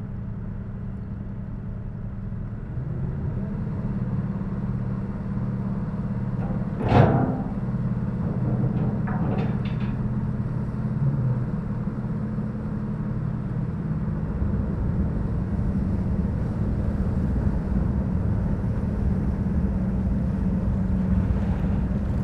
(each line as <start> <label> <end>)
5.4 ferry 13.0